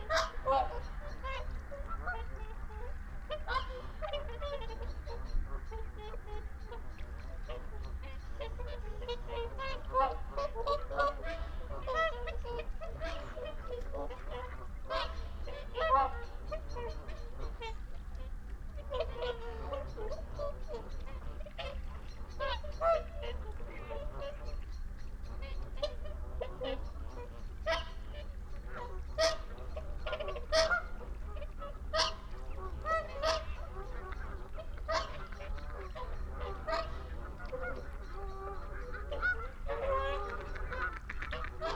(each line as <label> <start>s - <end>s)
barnacle geese flyover 0.0s - 41.7s
mallard 0.0s - 41.7s